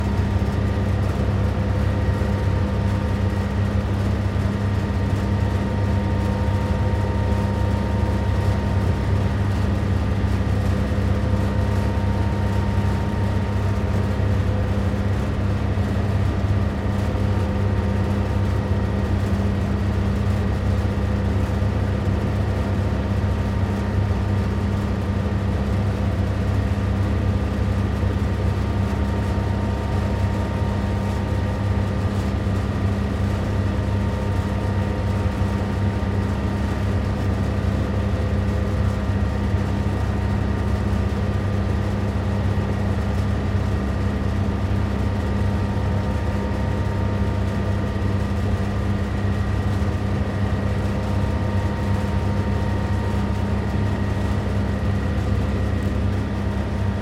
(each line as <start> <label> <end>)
0.0 Fan Ventilation 57.0